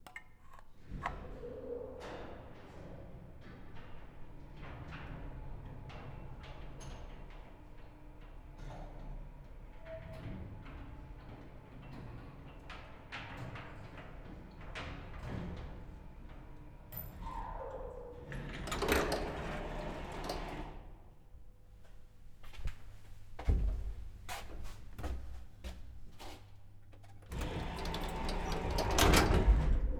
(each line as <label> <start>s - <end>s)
Old Soviet Blockhouse Elevator 0.1s - 21.2s
sliding door 0.9s - 21.0s
Old Soviet Blockhouse Elevator 25.1s - 29.9s
sliding door 27.3s - 29.9s